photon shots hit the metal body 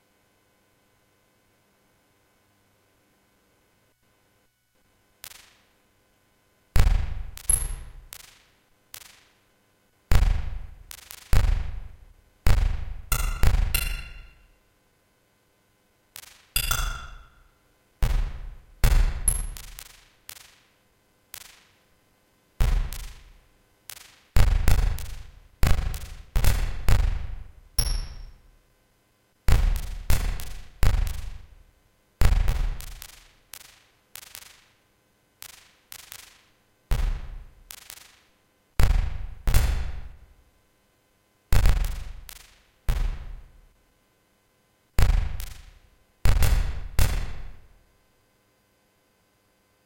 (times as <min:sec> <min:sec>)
0:06.8 0:08.4, 0:10.1 0:14.4, 0:18.0 0:19.8, 0:22.6 0:23.2, 0:24.4 0:28.3, 0:29.5 0:31.4, 0:32.2 0:33.2, 0:36.9 0:37.4, 0:38.8 0:40.1, 0:41.5 0:43.4, 0:45.0 0:45.7, 0:46.3 0:47.6